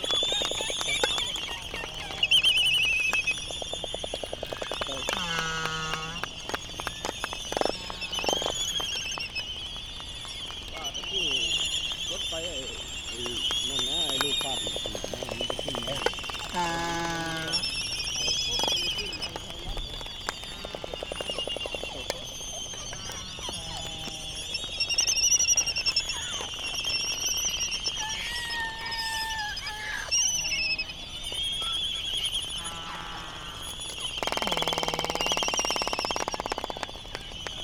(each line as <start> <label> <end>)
0.0 laysan calls 37.6
0.0 noise from buggies 37.6
34.0 bill clapperings 37.6